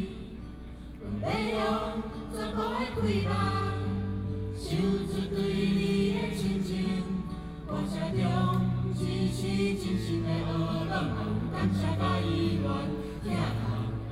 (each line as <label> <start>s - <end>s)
college students singing 0.0s - 14.1s